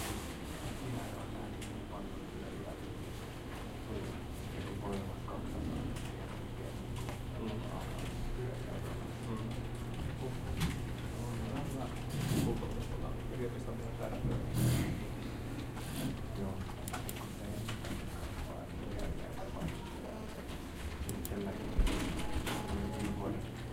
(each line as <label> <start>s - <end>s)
computers 0.3s - 23.7s